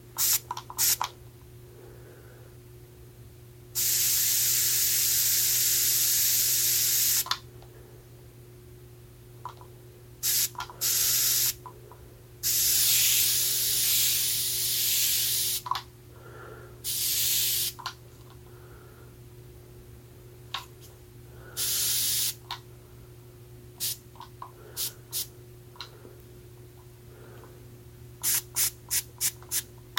air freshener spraying 0.2 - 1.1
air freshener spraying 3.8 - 7.4
air freshener spraying 10.2 - 11.6
air freshener spraying 12.4 - 15.7
air freshener spraying 16.8 - 17.8
air freshener spraying 21.6 - 22.4
air freshener spraying 23.8 - 24.0
air freshener spraying 24.8 - 25.3
air freshener spraying 28.2 - 29.7

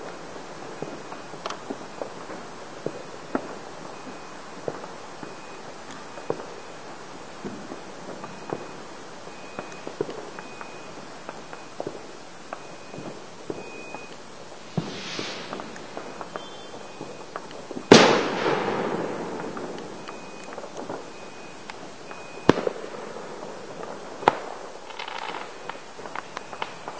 big firework 0.0 - 26.9
couple of crackles 8.2 - 22.9

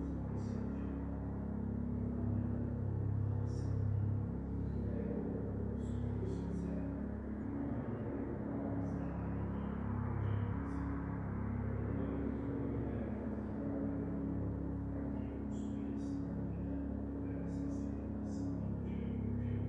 engine noise in the background 0.0 - 19.6
small rural church mass 0.0 - 19.6
voices 0.0 - 19.6

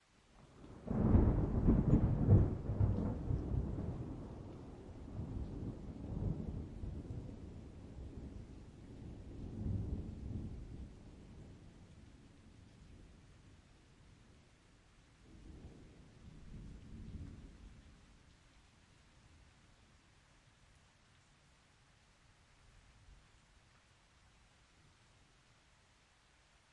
light rain 0.0 - 26.7
thunder clap 0.8 - 4.0

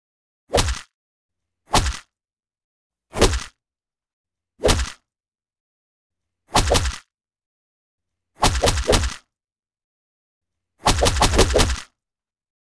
kick 1.7 - 2.0
kick 10.8 - 11.8
punches 10.9 - 11.8

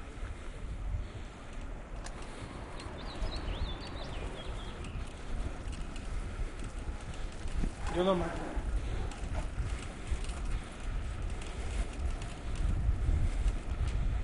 Bike ride 0.0 - 14.2

